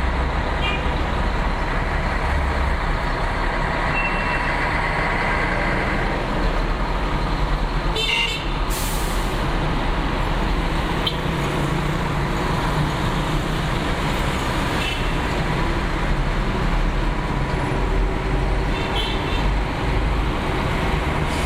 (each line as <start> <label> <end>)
0.0 Streetnoise 21.4